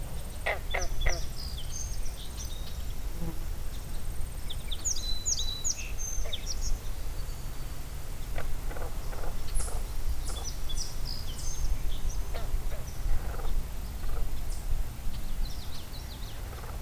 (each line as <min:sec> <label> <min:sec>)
0:00.1 Frogs croaking and ribbiting 0:01.8
0:08.2 Frogs croaking and ribbiting 0:11.0
0:11.6 Frogs croaking and ribbiting 0:14.7
0:16.2 Frogs croaking and ribbiting 0:16.8